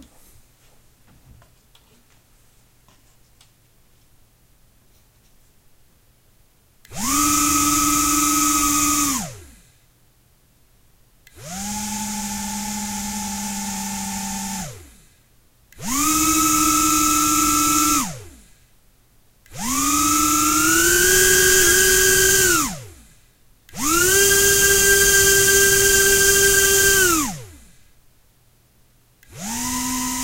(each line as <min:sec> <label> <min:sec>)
0:06.9 Mini Quadcopter Turning on/off in various speeds 0:09.7
0:11.3 Mini Quadcopter Turning on/off in various speeds 0:15.1
0:15.8 Mini Quadcopter Turning on/off in various speeds 0:18.5
0:19.5 Mini Quadcopter Turning on/off in various speeds 0:23.1
0:23.7 Mini Quadcopter Turning on/off in various speeds 0:27.8
0:29.2 Mini Quadcopter Turning on/off in various speeds 0:30.2